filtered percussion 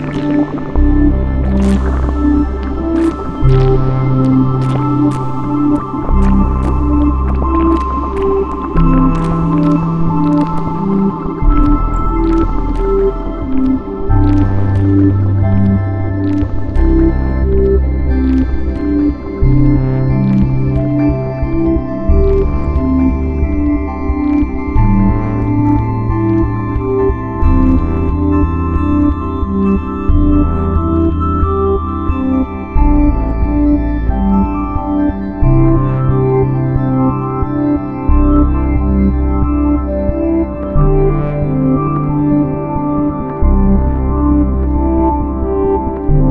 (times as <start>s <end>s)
0.0s 31.5s